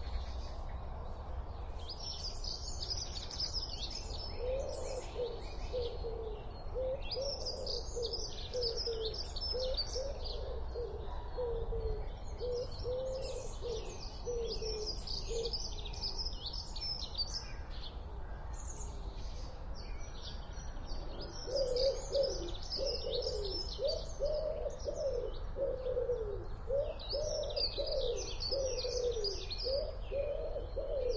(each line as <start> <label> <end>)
0.0 birds 31.1